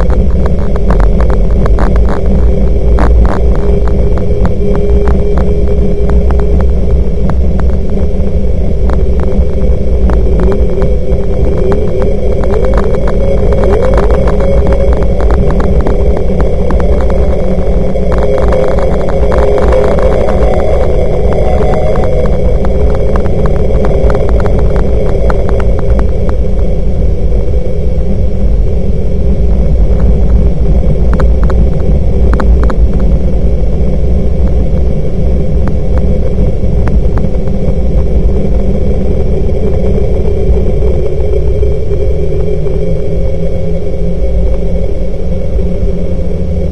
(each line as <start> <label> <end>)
0.0 processed vocal recording 46.7